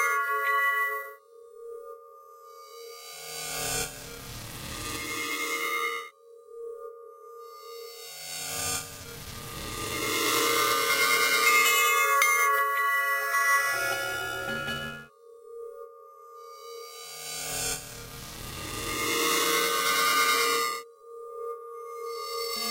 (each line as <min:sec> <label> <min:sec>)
0:00.0 Bells echoing in the dark recesses of a sticky ear cavern 0:02.9
0:09.6 Bells echoing in the dark recesses of a sticky ear cavern 0:17.5
0:19.0 Bells echoing in the dark recesses of a sticky ear cavern 0:22.7